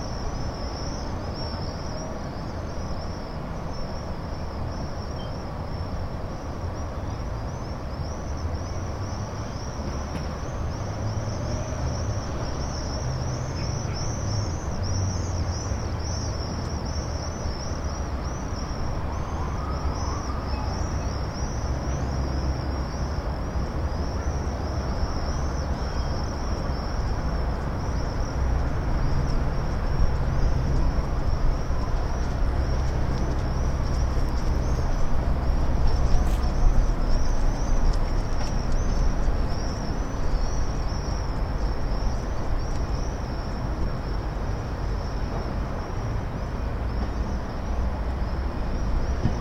local trains are departure 0:16.8 - 0:49.4

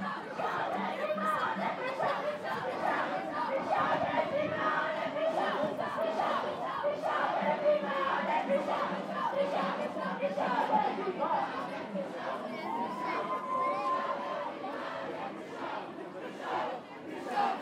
3000 young people shouting 0:12.5 - 0:15.1

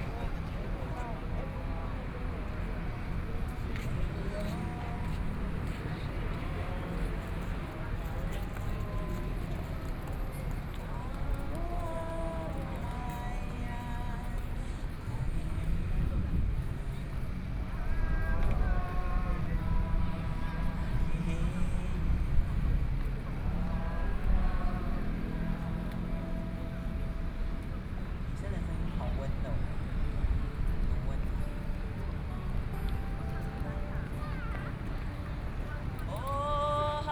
Sing along with the scene of the public 0:00.0 - 0:37.1
Aboriginal singers 0:08.5 - 0:15.9
Aboriginal singers 0:17.6 - 0:27.5
Aboriginal singers 0:32.2 - 0:37.1

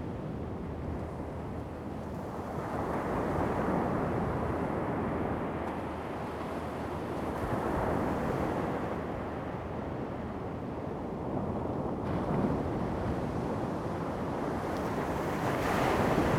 waves 0:12.1 - 0:16.3

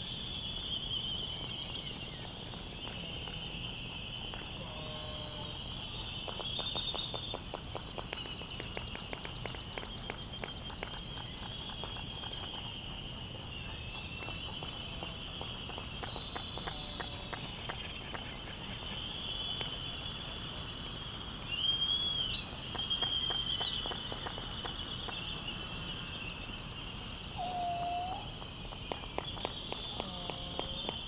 white terns 0:08.0 - 0:24.3
laysan albatross calls and bill clappers 0:13.7 - 0:19.8
white terns 0:26.6 - 0:31.0
laysan albatross calls and bill clappers 0:27.4 - 0:31.0
voices 0:29.7 - 0:31.0

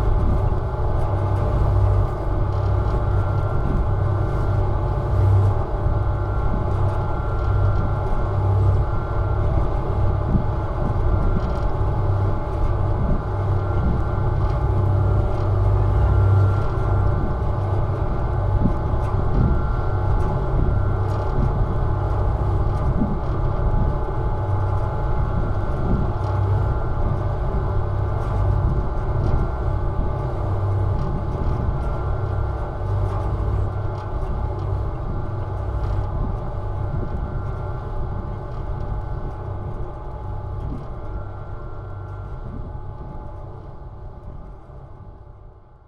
Drone sound of NYC Ferry's engine 0:00.0 - 0:45.8

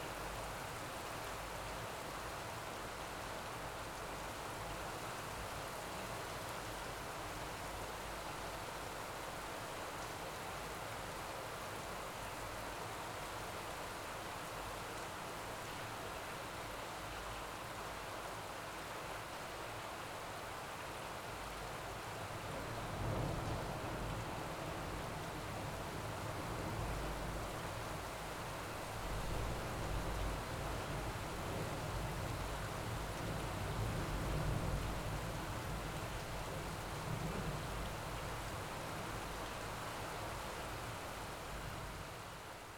rain 0:00.0 - 0:42.7

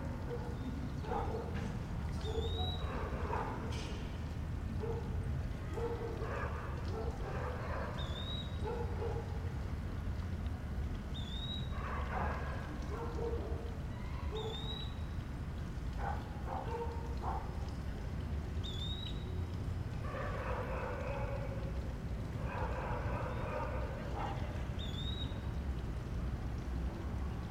dogs barking 0:00.0 - 0:03.9
water fountain 0:00.0 - 0:27.5
dogs barking 0:04.8 - 0:09.5
dogs barking 0:11.6 - 0:14.8
dogs barking 0:15.9 - 0:17.7
dogs barking 0:20.0 - 0:24.6

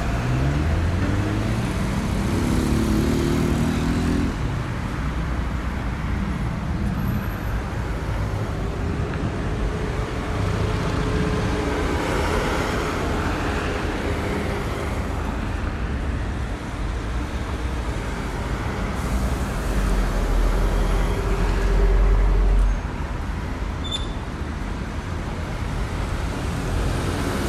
loud traffic 0:00.0 - 0:27.4
passage of ambulances 0:00.0 - 0:27.4
passage of motorcycles 0:00.0 - 0:27.4

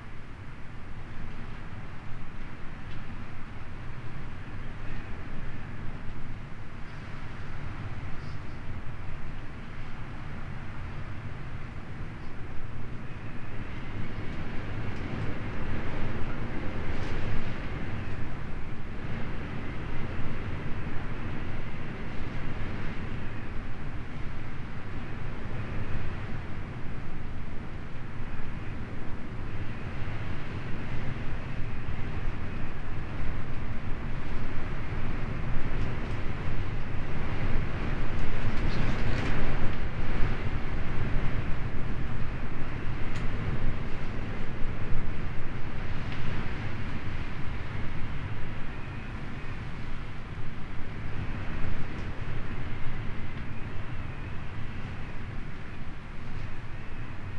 storm raging outside the bothy 0:13.5 - 0:57.3

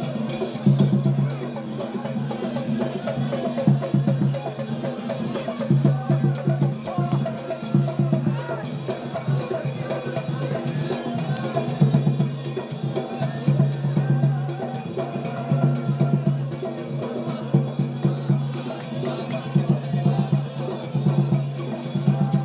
Dikhr in full swing 0:00.0 - 0:22.4

